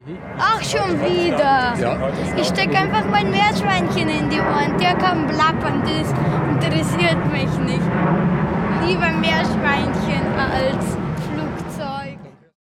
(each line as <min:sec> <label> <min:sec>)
0:00.0 aircraft noise 0:12.6
0:00.4 boy remarks 0:07.9
0:08.8 boy remarks 0:12.4